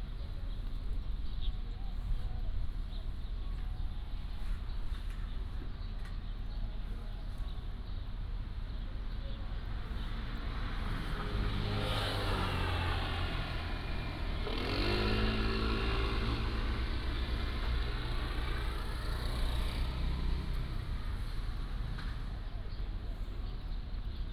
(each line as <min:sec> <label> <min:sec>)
0:02.4 Traffic Sound 0:24.3